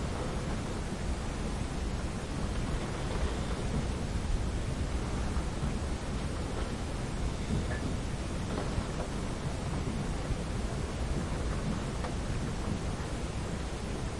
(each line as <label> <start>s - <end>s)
wind noises 0.0s - 14.1s